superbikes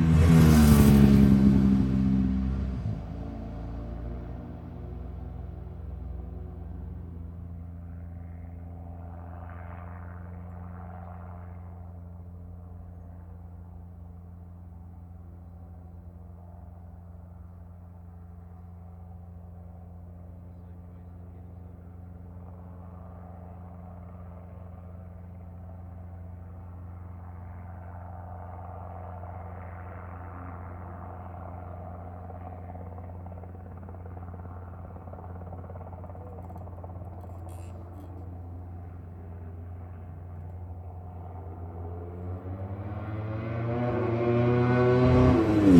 30.8 45.7

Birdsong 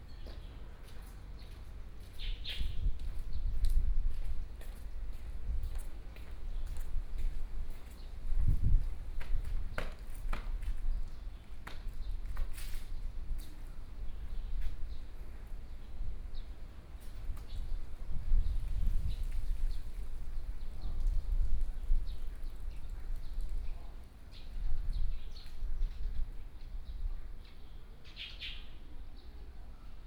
22.1 29.4

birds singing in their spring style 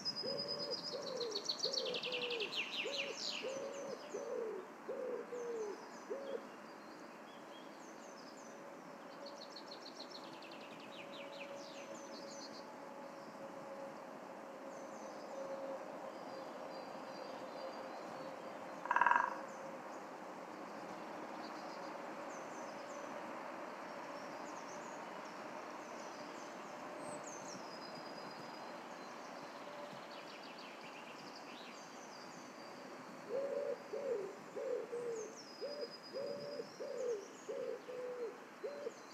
0.0 4.5

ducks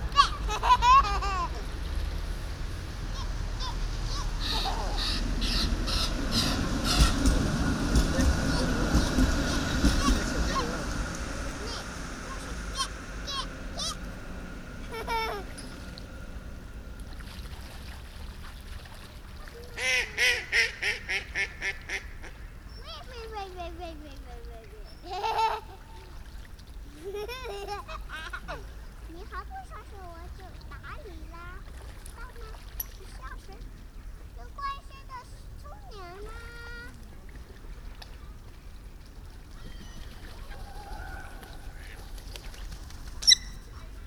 3.2 10.9, 19.5 22.4, 39.5 44.0

